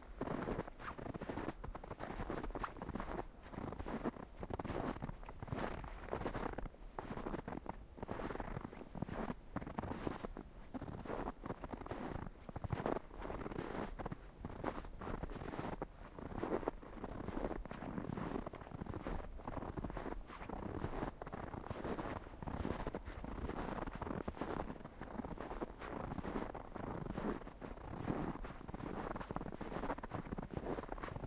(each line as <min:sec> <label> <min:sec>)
0:17.0 footsteps 0:31.2